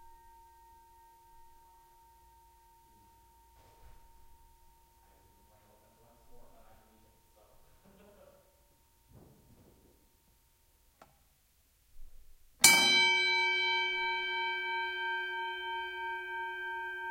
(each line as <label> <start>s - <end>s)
Boxing bell, various rings dings pulses close distant 12.6s - 17.1s